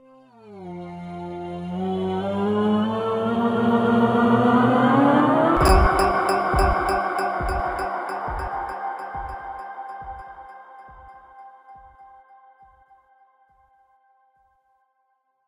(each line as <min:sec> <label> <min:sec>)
0:05.6 Jingle 0:11.2